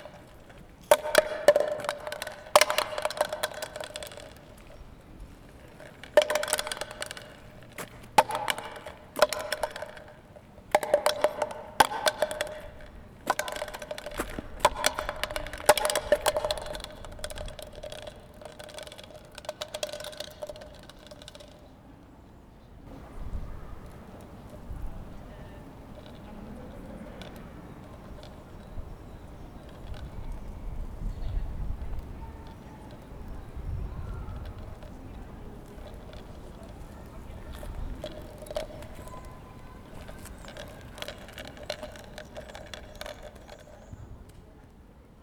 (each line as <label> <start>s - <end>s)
plastic cup is dancing in the wind 0.0s - 21.7s
plastic cup is dancing in the wind 22.9s - 44.5s